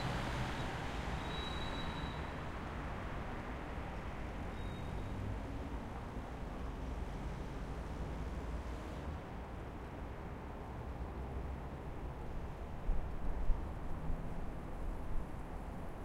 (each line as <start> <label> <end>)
0.0 medium traffic in dry conditions 16.0